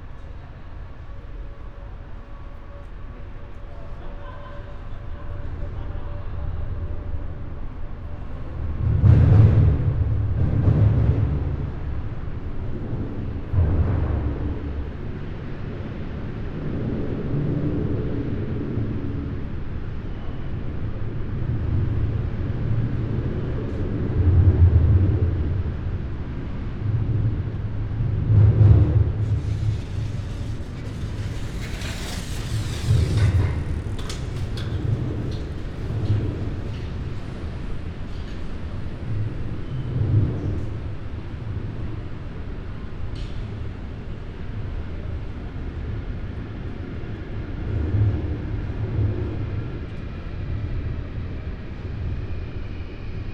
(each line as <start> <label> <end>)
0.0 main station walking 53.3
25.7 connecting train 47.7